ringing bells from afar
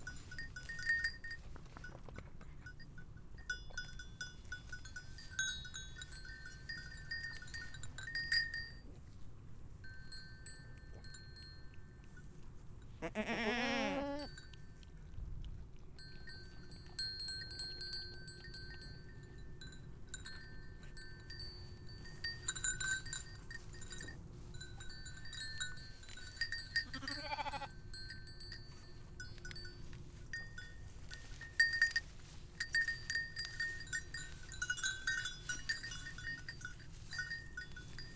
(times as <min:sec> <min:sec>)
0:17.1 0:38.1